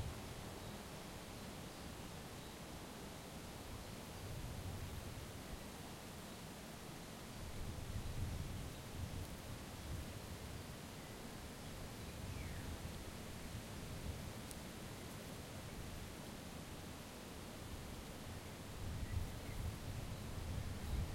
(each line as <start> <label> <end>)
7.4 windy 21.1